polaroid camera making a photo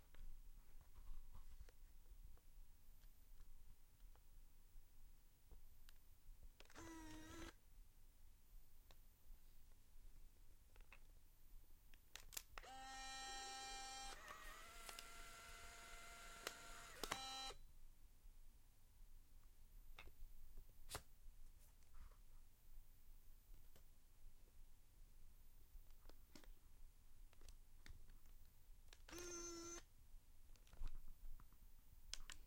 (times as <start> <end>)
6.6 7.6, 12.3 17.6, 29.0 29.9